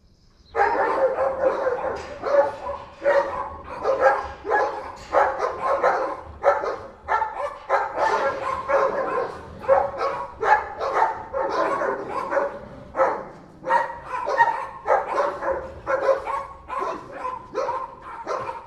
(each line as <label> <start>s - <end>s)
Dogs barking 0.5s - 18.6s